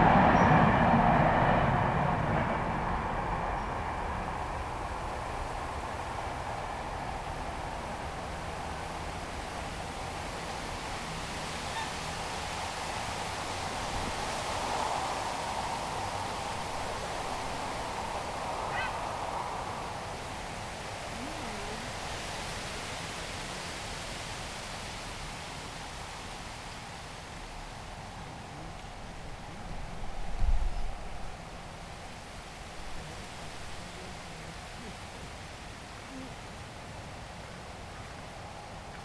0.0s Trains en courbe 22.8s

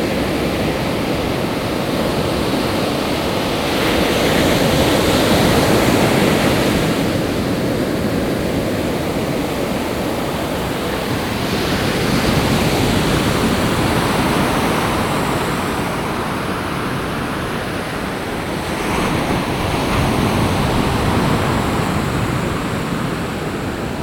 0.0s waves 24.0s

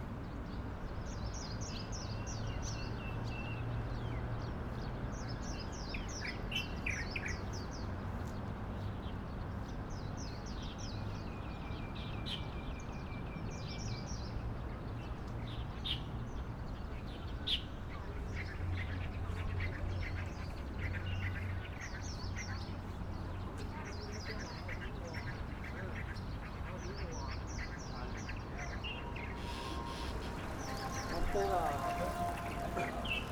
23.9s Birds singing 33.3s
27.4s Traffic Sound 33.3s

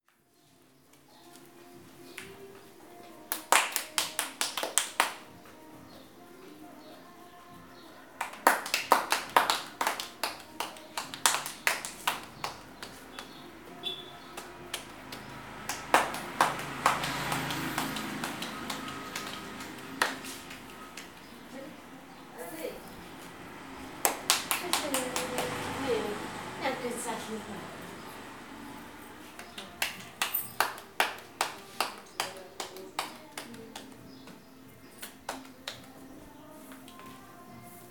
0.1s Tortillas 27.0s

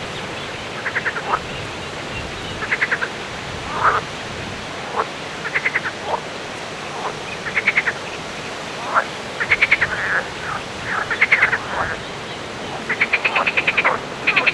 0.0s frogs 4.2s
4.8s frogs 14.5s

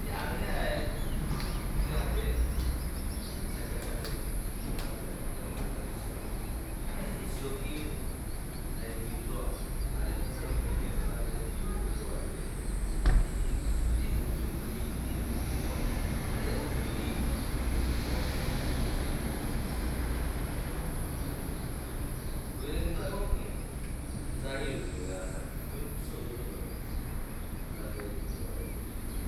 0.0s Traffic Sound 29.2s

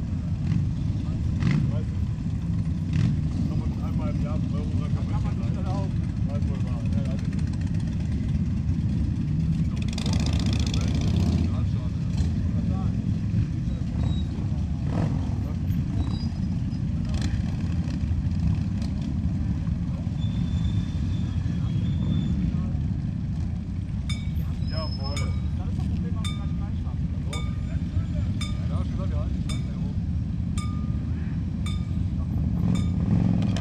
22.8s motorräder 33.6s

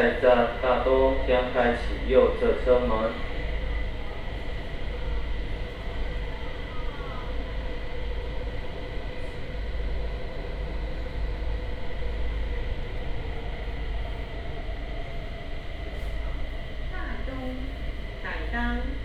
0.0s In-car message broadcasting 3.4s
0.0s Take the MRT 19.0s

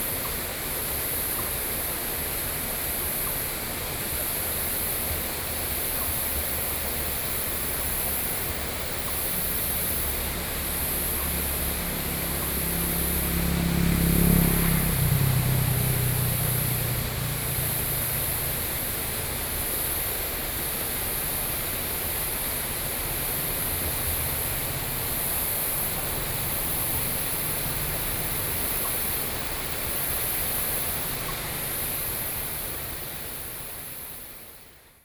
0.0s Stream 35.0s

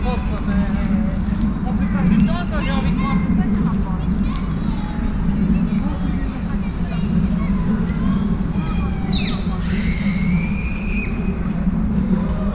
0.0s Children playing 12.5s
0.0s people wandering 12.5s

